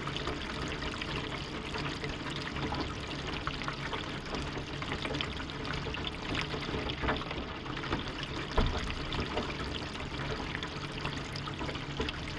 Water gushing down the drainpipe 0.0 - 12.3

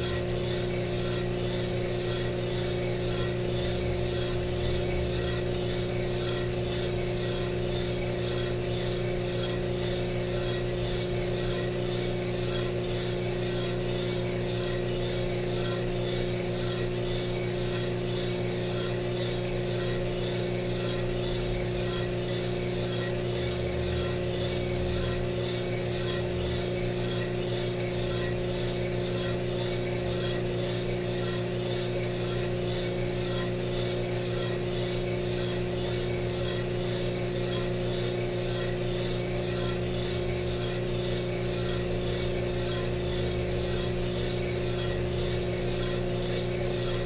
fuji royal coffee roaster 0.0 - 47.0

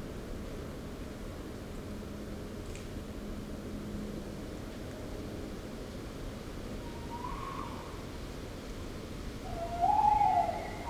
Owl (Waldkauz) couple (male/fem) 9.5 - 10.8

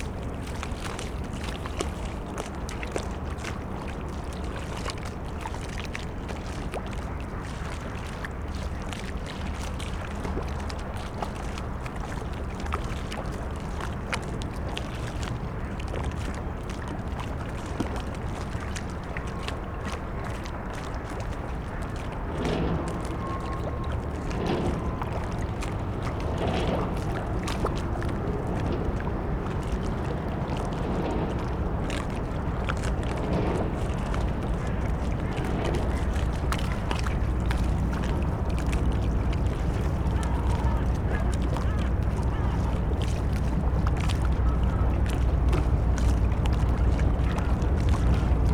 lapping waves 0.0 - 48.5
towboat moves empty coal barges away 0.0 - 48.5
squeaking drone of the ferris wheel 21.8 - 43.0

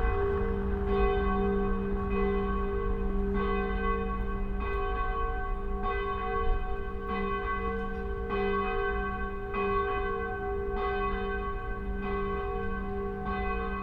St Michael church's ringing 0.0 - 13.8

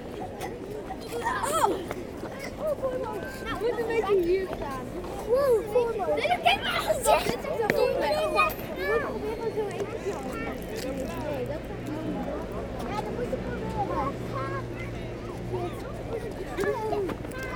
Children playing with bubbles 1.0 - 3.8
Children playing with bubbles 5.2 - 11.1

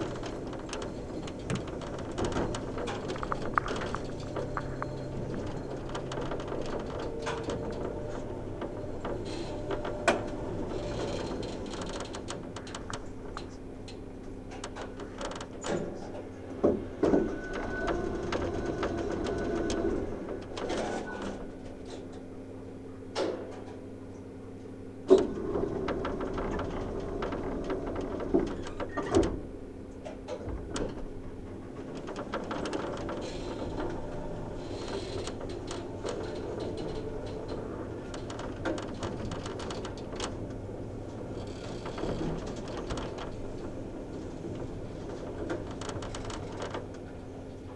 hotel elevator 0.0 - 23.9
hotel elevator 24.8 - 47.7

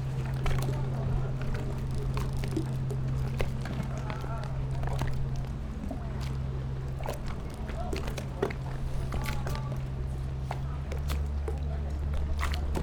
Tide 0.0 - 12.8

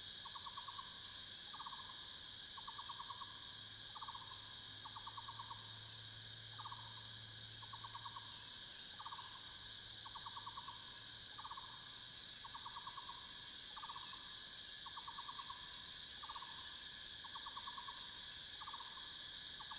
Cicada sounds 0.0 - 19.7

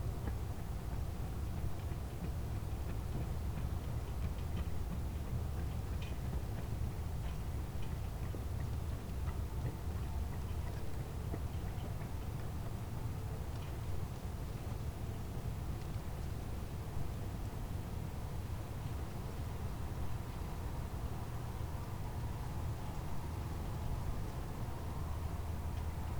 night traffic 17.7 - 26.1

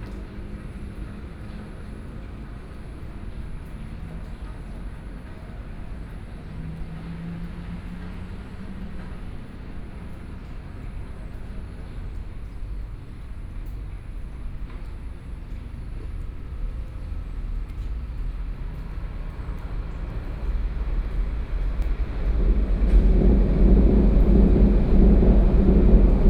Traffic Sound 0.0 - 26.2
Trains traveling through 0.1 - 26.2

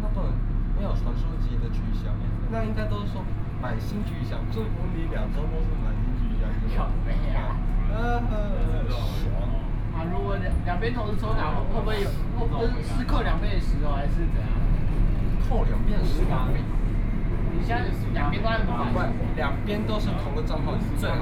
Tamsui Line (Taipei Metro) 0.0 - 21.2

